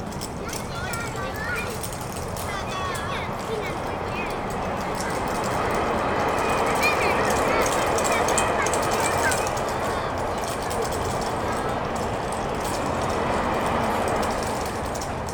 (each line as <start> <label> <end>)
0.0 running around the school yard 15.3
0.0 toy clappers 15.3